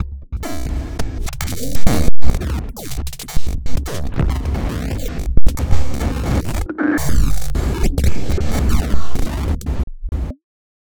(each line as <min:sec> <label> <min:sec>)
0:00.5 tripped out electrical glitch sound 0:10.3